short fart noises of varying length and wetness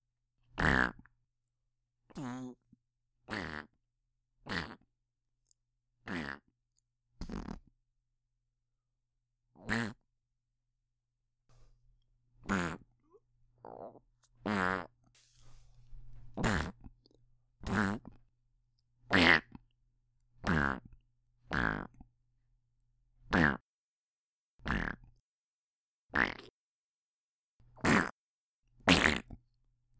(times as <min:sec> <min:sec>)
0:12.4 0:12.8, 0:13.6 0:16.8